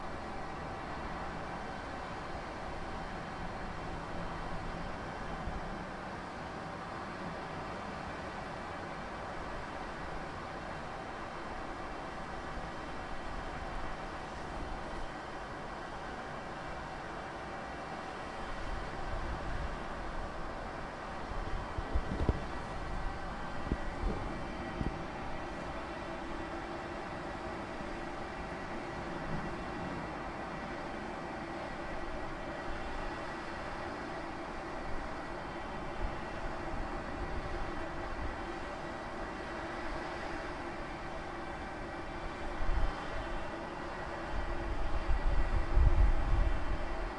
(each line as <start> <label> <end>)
0.0 kitchen extractor fan mounted on roof 47.1